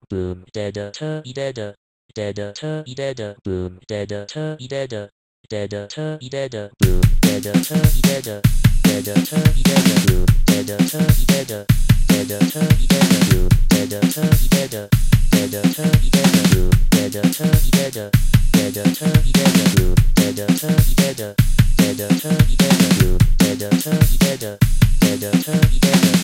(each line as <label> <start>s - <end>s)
Robot Singing 6.8s - 26.2s